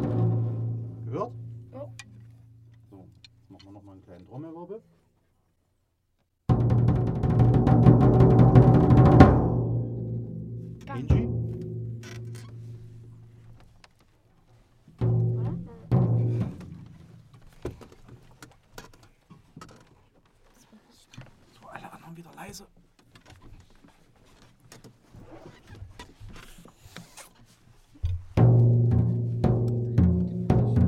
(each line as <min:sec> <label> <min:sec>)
0:00.0 trommelworkshop mit kindern 0:05.0
0:06.5 trommelworkshop mit kindern 0:19.6
0:25.2 trommelworkshop mit kindern 0:30.8